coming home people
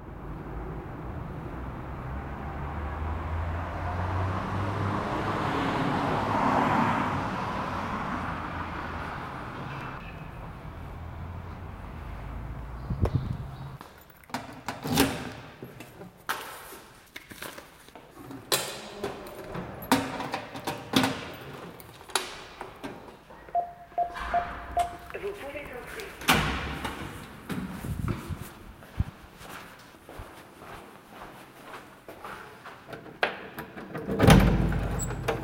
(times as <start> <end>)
23.4 26.3